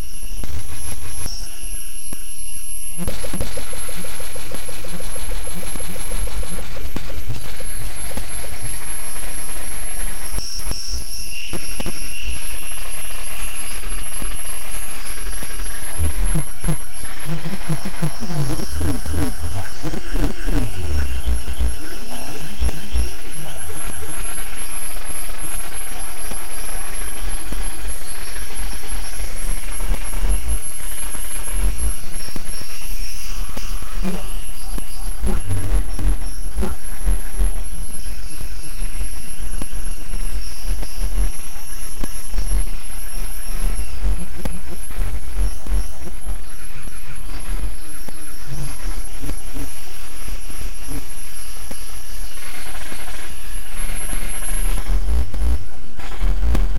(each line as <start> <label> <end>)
0.0 glitch 56.7